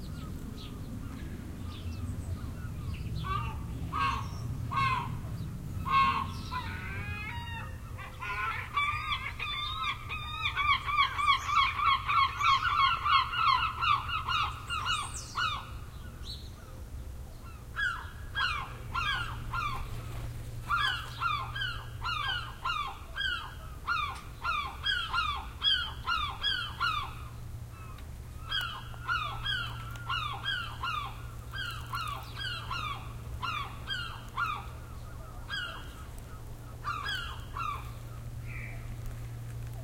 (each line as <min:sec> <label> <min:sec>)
0:02.4 seagulls screeching 0:15.8
0:17.8 seagulls screeching 0:38.9